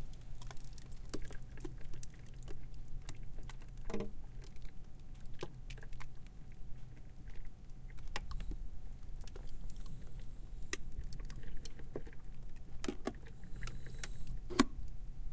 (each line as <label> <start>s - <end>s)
crackling ice in my freezer 0.0s - 15.3s